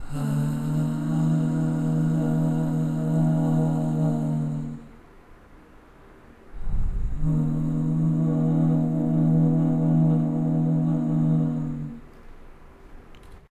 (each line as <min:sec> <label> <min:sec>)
0:00.0 male vocal 0:05.0
0:06.6 male vocal 0:12.0